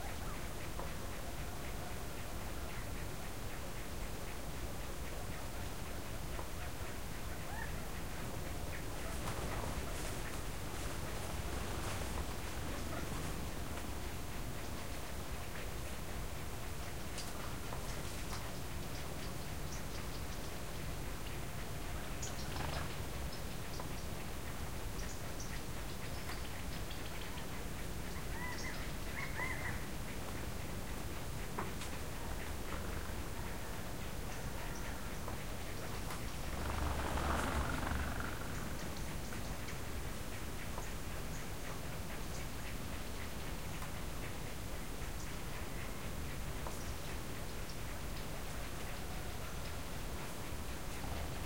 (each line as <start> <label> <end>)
0.0 birds 51.4
0.0 herd of Roosevelt Elk 51.4